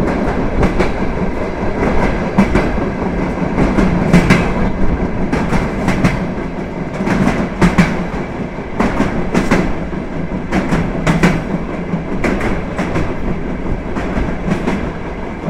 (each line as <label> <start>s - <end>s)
Eisenbahn 0.0s - 15.4s